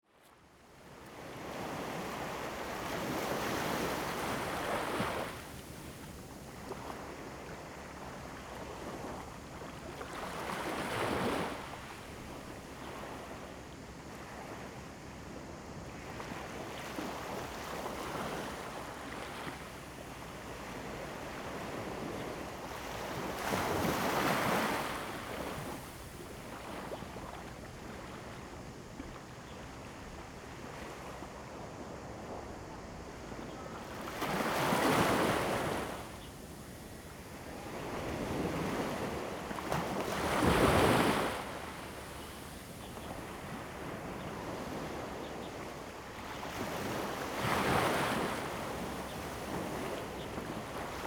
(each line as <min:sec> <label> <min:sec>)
0:00.2 waves 0:51.0